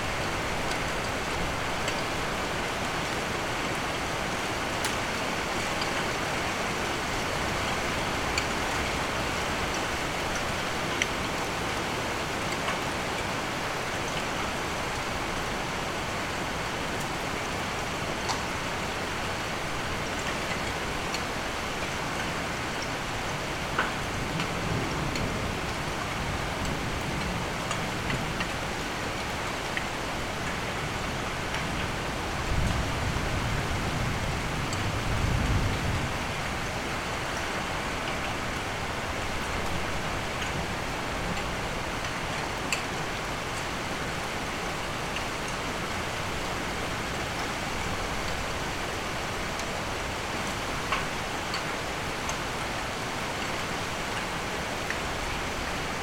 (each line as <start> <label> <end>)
0.0 heavy rain with hailstone 56.0